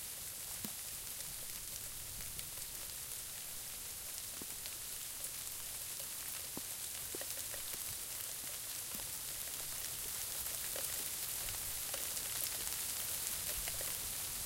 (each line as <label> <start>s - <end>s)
sleet and freezing rain 0.0s - 14.4s